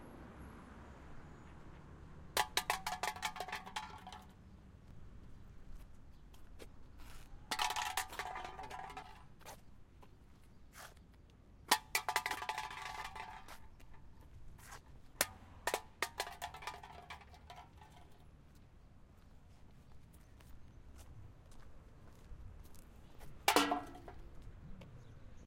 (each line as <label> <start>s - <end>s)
Hitting a coke can with my foot 2.4s - 4.3s
Hitting a coke can with my foot 7.5s - 9.3s
Hitting a coke can with my foot 11.7s - 14.0s
Hitting a coke can with my foot 15.2s - 18.2s
Hitting a coke can with my foot 23.2s - 24.3s
throwing it into a garbage can 23.4s - 24.3s